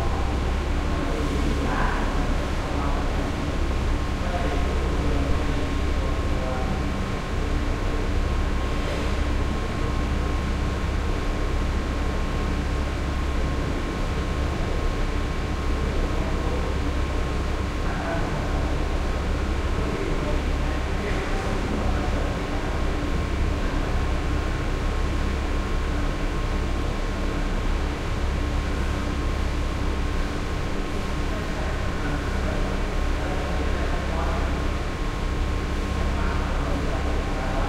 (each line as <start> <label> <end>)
0.0 heavy ventilation hum 37.6